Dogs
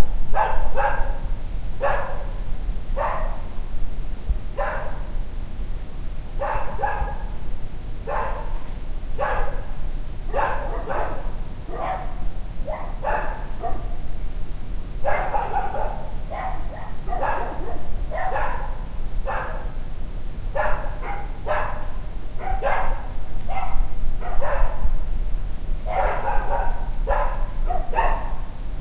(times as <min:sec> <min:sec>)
0:00.4 0:01.2, 0:01.8 0:02.4, 0:03.0 0:03.5, 0:04.6 0:05.1, 0:06.4 0:07.3, 0:08.1 0:08.6, 0:09.2 0:09.7, 0:10.3 0:14.0, 0:15.0 0:19.8, 0:20.6 0:24.9, 0:25.9 0:28.5